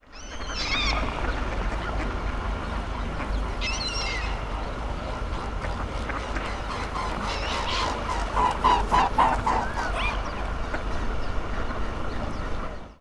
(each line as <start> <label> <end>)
0.2 swan flies by 12.7